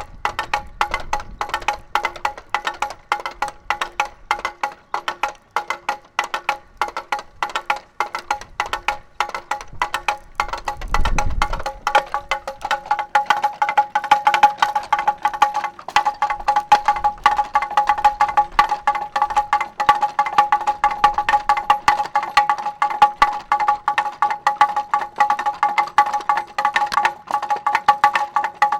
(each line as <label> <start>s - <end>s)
wind rattle 0.0s - 28.7s